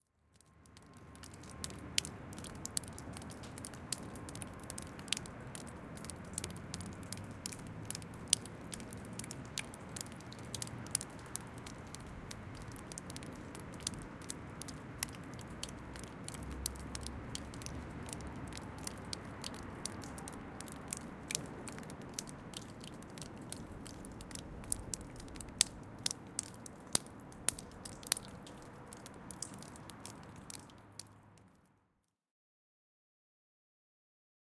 Water dripping from melting snow 0:00.0 - 0:31.8

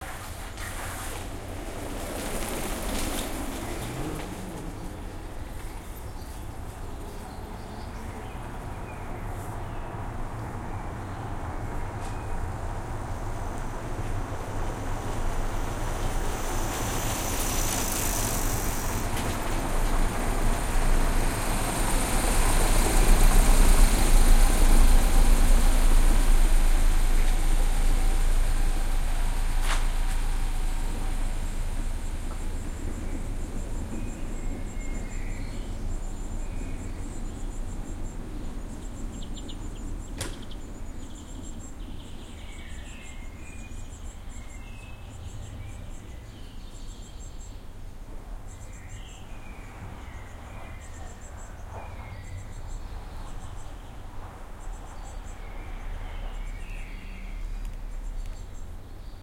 Birds in the surroundings 0:00.0 - 0:59.2
bicycles passing by 0:00.0 - 0:44.4
Cars 0:00.0 - 0:59.2

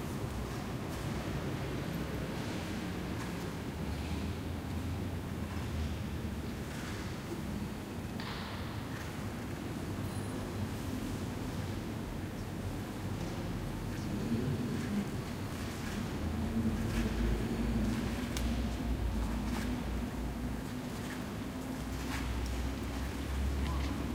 murmur 0:11.0 - 0:24.1
people walking through 0:11.9 - 0:24.1

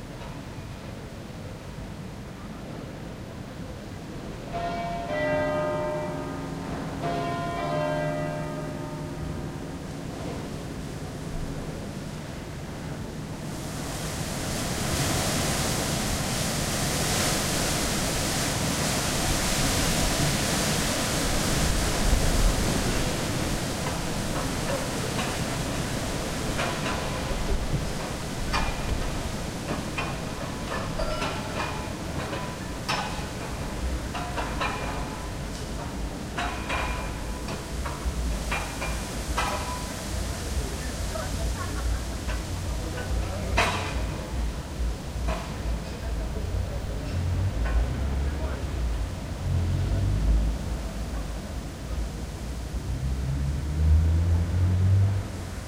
wind in the trees 0:00.0 - 0:55.6
cars 0:46.1 - 0:55.6

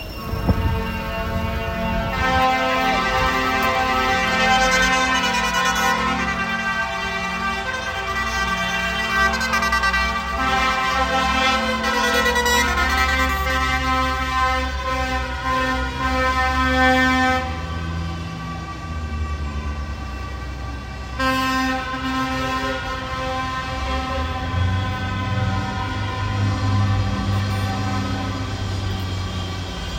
Tractor Horns 0:00.0 - 0:29.1

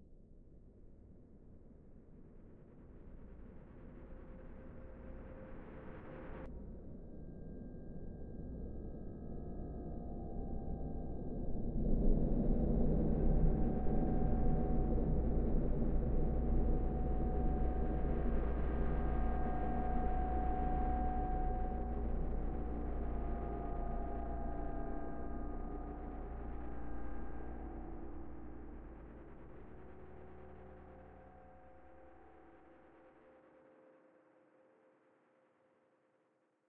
drone 0:12.3 - 0:33.8

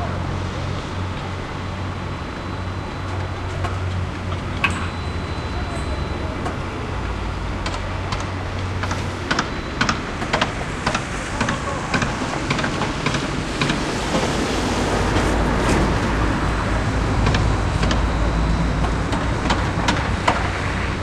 machinery 0:00.0 - 0:21.0

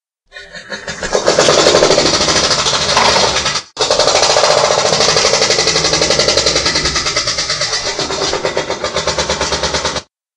Pneumatic drill 0:01.2 - 0:10.1

